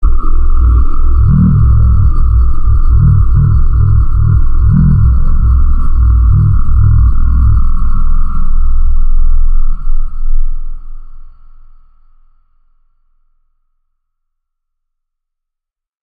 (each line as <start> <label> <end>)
0.0 Spacecraft 11.4